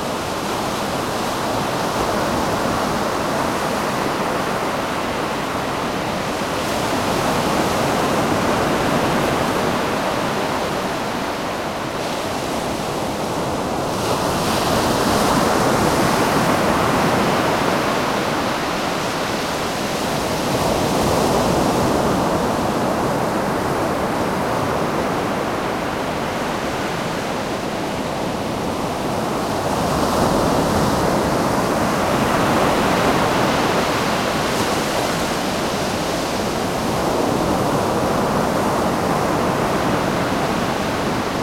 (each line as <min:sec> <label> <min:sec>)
0:00.0 waves 0:41.4
0:00.0 windy day 0:41.4